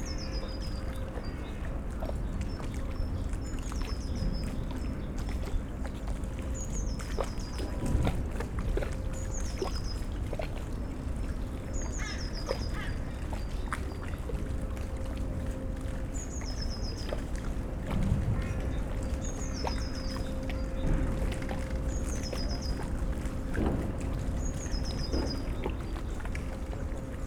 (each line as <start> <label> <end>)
13.0 sounds from the power plant and cement factory 27.2